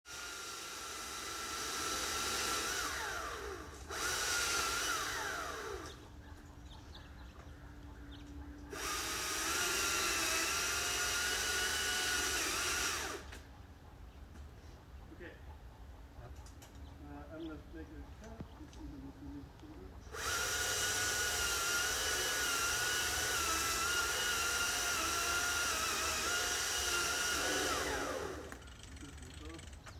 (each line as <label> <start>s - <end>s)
Cutting tree with electric chain saw 0.1s - 6.1s
Cutting tree with electric chain saw 8.7s - 13.4s
Cutting tree with electric chain saw 20.1s - 29.9s